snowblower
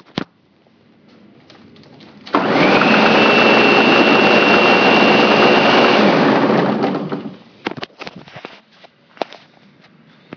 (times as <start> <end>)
2.3 7.4